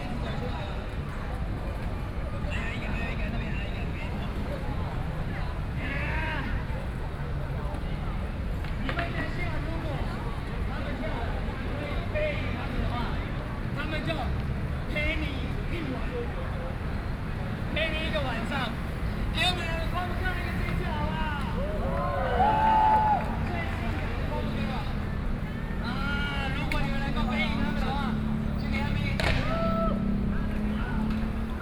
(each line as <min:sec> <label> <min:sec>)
0:00.0 Young people are skateboarding 0:31.6